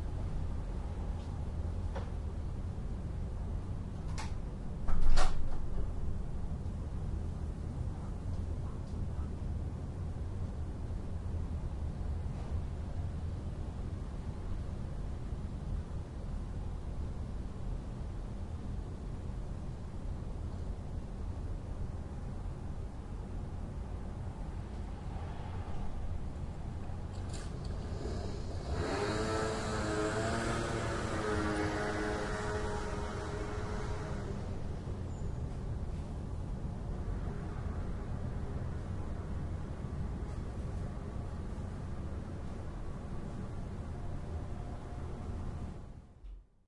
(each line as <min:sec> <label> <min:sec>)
0:00.0 urban noise 0:46.4
0:04.9 closing the door 0:05.7
0:24.8 scooter approaches and holds still 0:36.2